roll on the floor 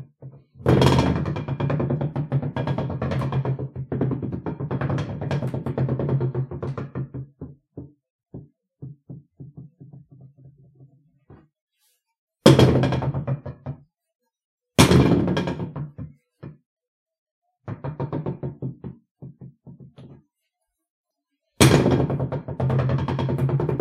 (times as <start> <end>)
0.2 11.5, 21.6 23.8